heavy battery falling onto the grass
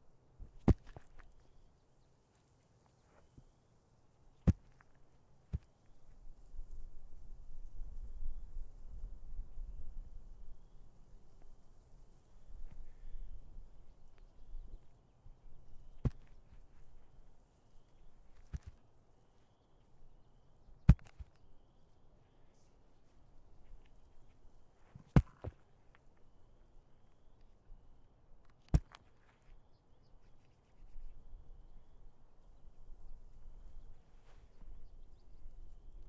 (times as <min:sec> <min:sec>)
0:24.9 0:25.6